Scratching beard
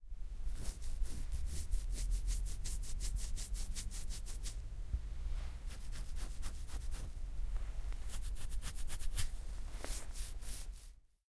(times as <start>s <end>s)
0.5s 4.6s, 5.5s 7.2s, 8.0s 10.9s